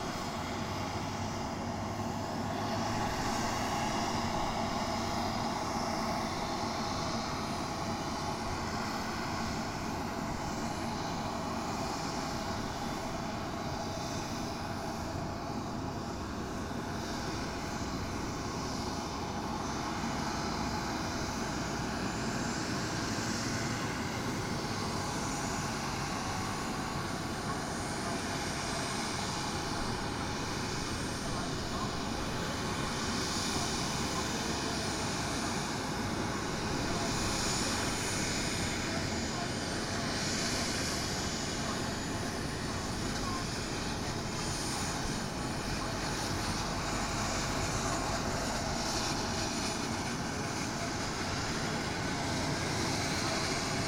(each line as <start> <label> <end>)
0.0 commotion on the airfield 53.8
0.0 small jet plane idling on the runaway 53.8
16.6 plane lands 53.8